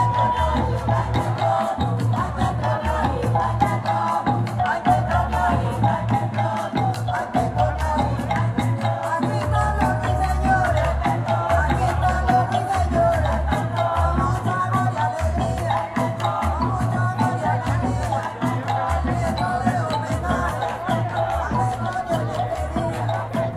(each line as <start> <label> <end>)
0.0 marimba 23.5